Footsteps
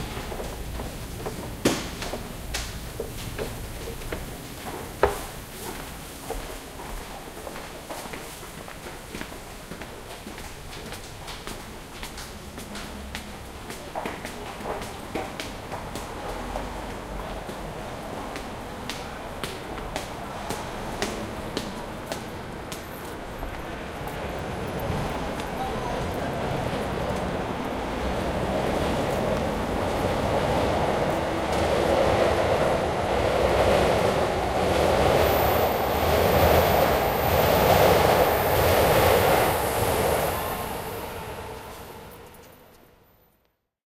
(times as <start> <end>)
24.8 42.9